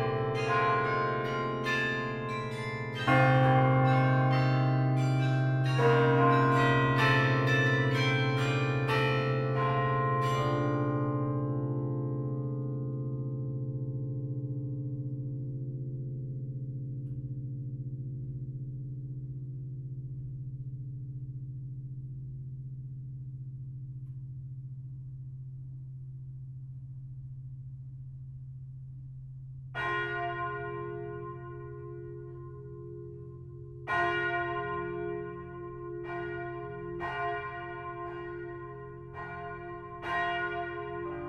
0.0s ringing of all the small bells 11.8s
29.8s ringing of all the small bells 41.2s

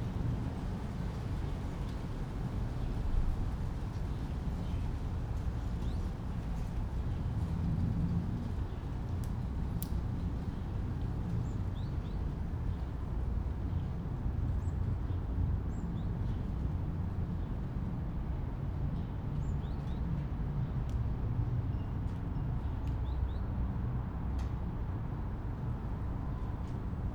0.0s wind roar in distant birches 27.1s

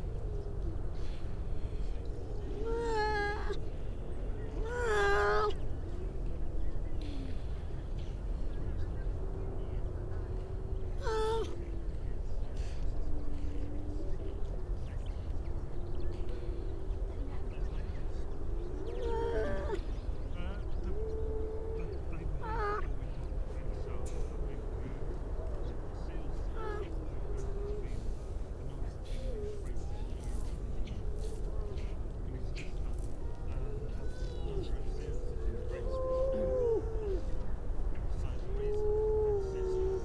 0.6s grey seals 5.7s
10.5s grey seals 11.8s
15.6s grey seals 40.0s

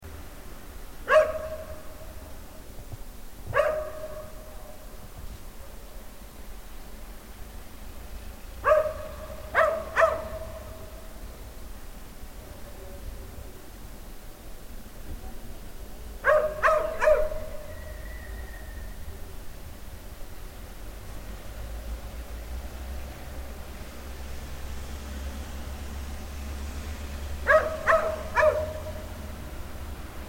3.5s Stray dog 4.4s
8.6s Stray dog 10.8s
16.2s Stray dog 17.8s
27.5s Stray dog 29.0s

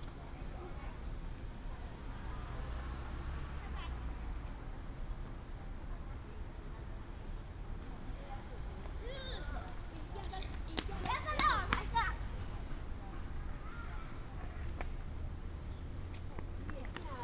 0.0s Traffic sound 17.2s
8.9s Child 12.6s

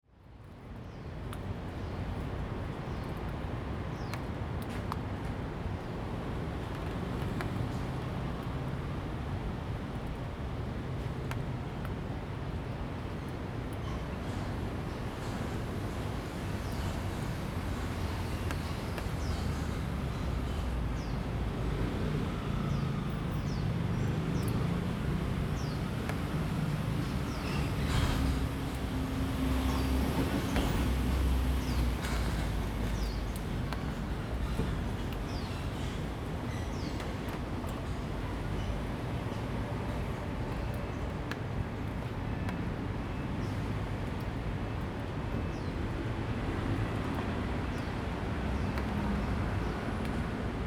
0.4s Traffic Sound 50.6s
0.4s Raindrop 50.6s

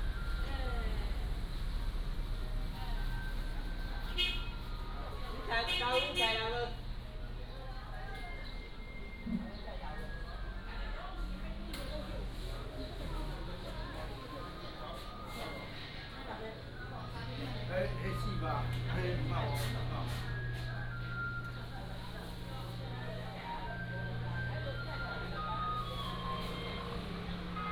0.0s Garbage truck 5.5s
11.3s Garbage truck 27.7s

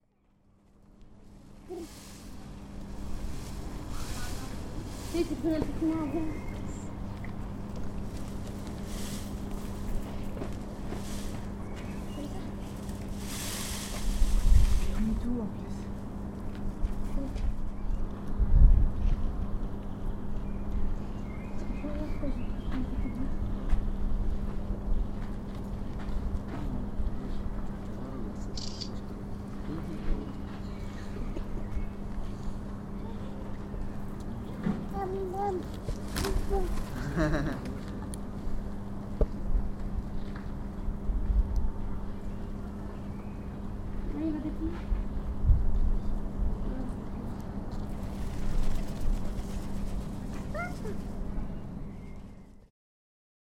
1.7s peacock wings, scratching the ground 6.8s
7.8s peacock wings, scratching the ground 16.0s
34.9s peacock wings, scratching the ground 38.0s
47.7s peacock wings, scratching the ground 51.2s

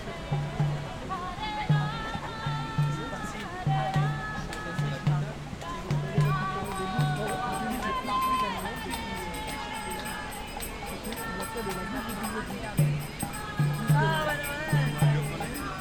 0.0s Hare Krishna 15.8s

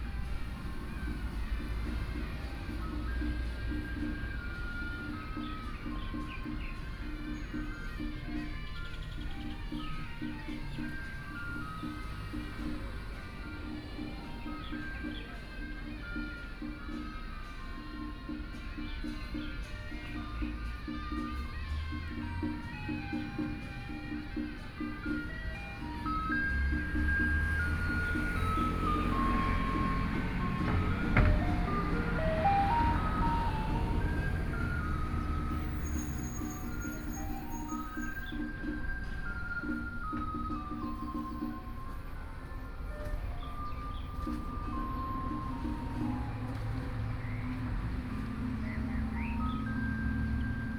0.0s Traffic Sound 50.7s
3.8s Birdsong sound 12.8s
13.7s Birdsong sound 16.3s
24.5s Garbage Truck 50.7s
26.0s Birdsong sound 41.5s
43.4s Birdsong sound 50.7s

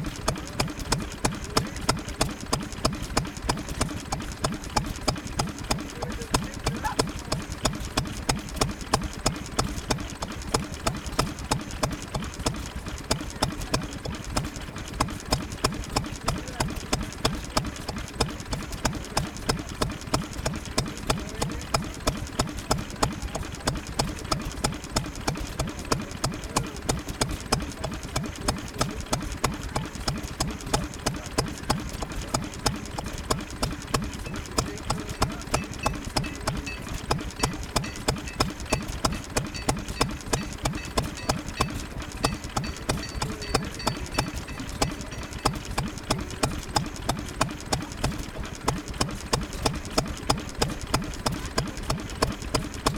0.0s Bamford Stationary Engine 52.9s

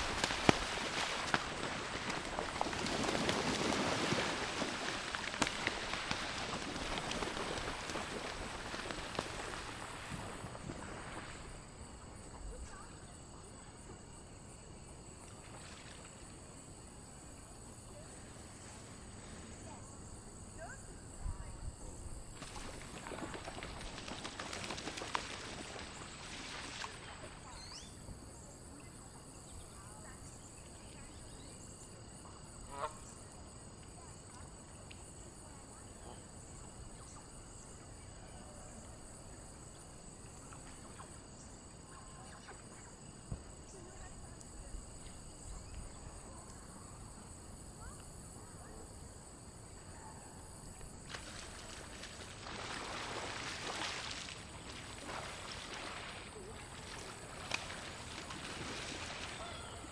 0.0s Canadian Geese slapdown 11.0s
51.1s Canadian Geese slapdown 59.9s

